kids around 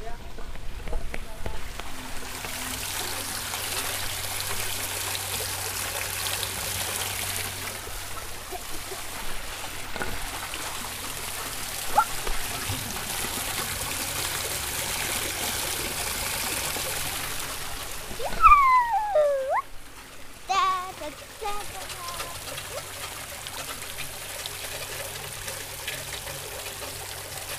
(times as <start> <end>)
18.1 19.8, 20.4 23.0